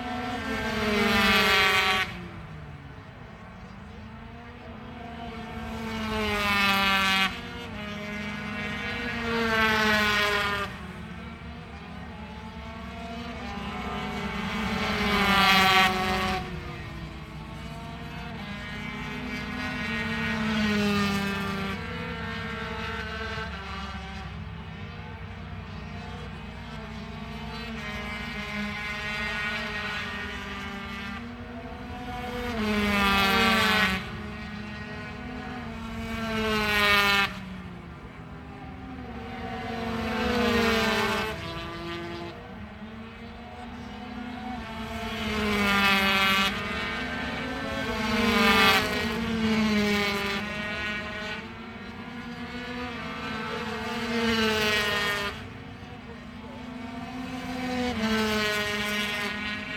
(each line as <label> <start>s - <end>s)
british motorcycle grand prix 2005 ... 125 qualifying 0.0s - 59.7s